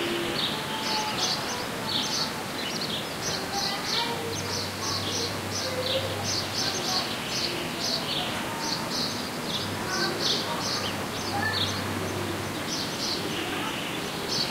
kids 0.0 - 14.5

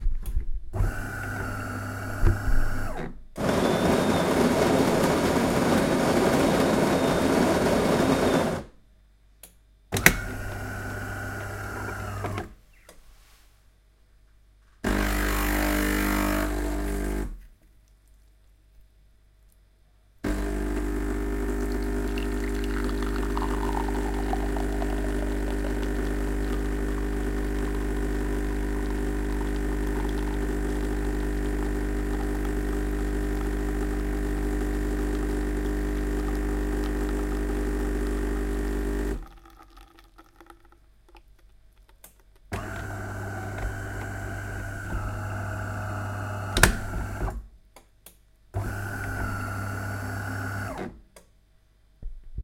espresso machine 0.8 - 8.7
espresso machine 10.0 - 12.5
espresso machine 14.8 - 17.3
espresso machine 20.2 - 40.5
espresso machine 42.6 - 47.3
espresso machine 48.6 - 50.9

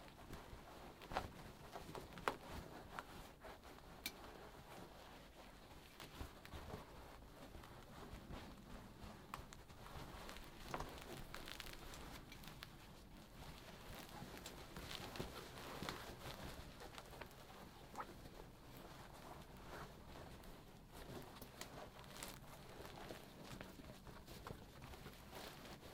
Rustle of rough fabric 0.0 - 25.9

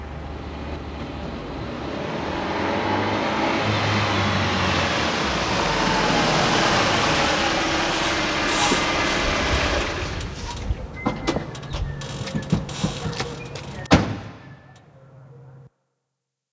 Car accelerate 0.0 - 10.6
door opening 7.7 - 14.8
door closing 7.7 - 14.5

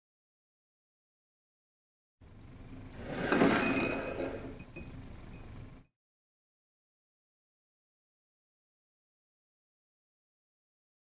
Glass Passing 3.0 - 5.0

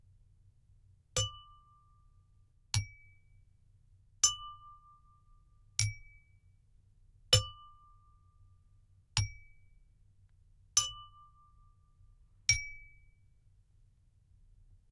tapping of glass with a two different sized spoons 1.2 - 1.7
tapping of glass with a two different sized spoons 2.8 - 3.1
tapping of glass with a two different sized spoons 5.8 - 6.2
tapping of glass with a two different sized spoons 10.8 - 11.2
tapping of glass with a two different sized spoons 12.5 - 13.0

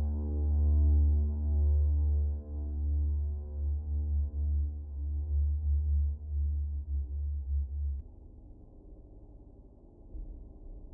deep bass drone made with an guitar 0.0 - 8.7

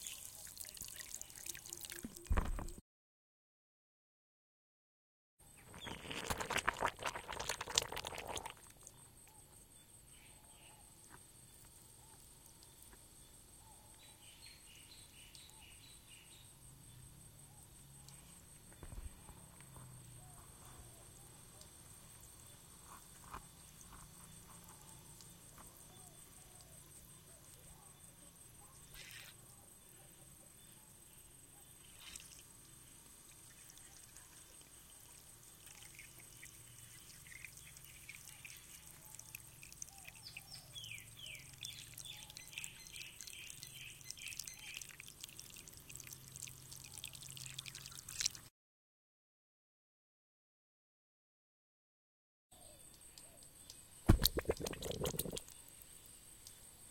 hole in the ground filling with water 0.0 - 2.7
hole in the ground filling with water 5.6 - 10.0
hole in the ground filling with water 10.9 - 13.5
hole in the ground filling with water 20.5 - 48.5
hole in the ground filling with water 52.9 - 56.8

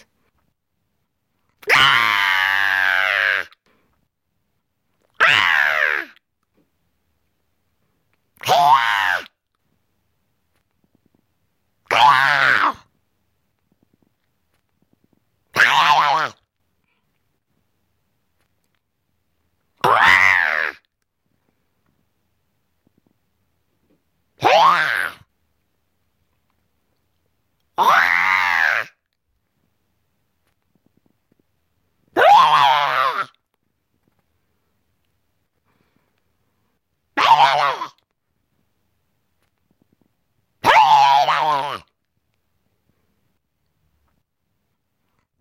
high monster/creature scream 1.6 - 3.6
high monster/creature scream 5.1 - 6.2
high monster/creature scream 8.4 - 9.4
high monster/creature scream 11.9 - 12.9
high monster/creature scream 15.5 - 16.4
high monster/creature scream 19.8 - 20.9
high monster/creature scream 24.4 - 25.3
high monster/creature scream 27.8 - 29.0
high monster/creature scream 32.2 - 33.4
high monster/creature scream 37.2 - 38.0
high monster/creature scream 40.6 - 41.9

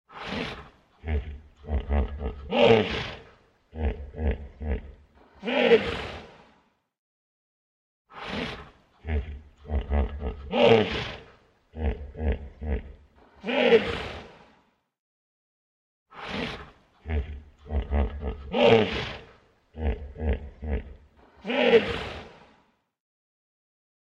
Hippo Grunts Roar 0.1 - 6.4
Hippo Grunts Roar 8.2 - 14.4
Hippo Grunts Roar 16.2 - 22.4

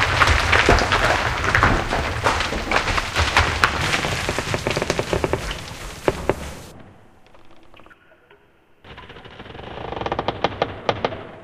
rocking fall 0.0 - 7.8

